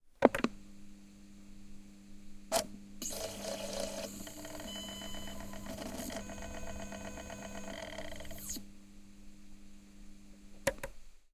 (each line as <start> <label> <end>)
2.5 CD-Player, Turn On, Turn Off 8.7